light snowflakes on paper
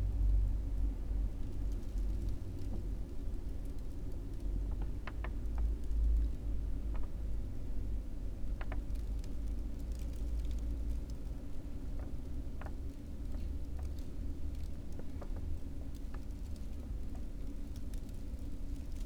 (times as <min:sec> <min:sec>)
0:08.6 0:19.0